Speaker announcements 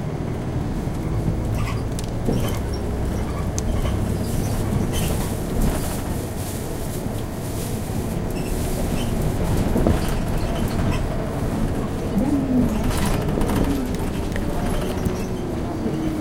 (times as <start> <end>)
12.0 16.2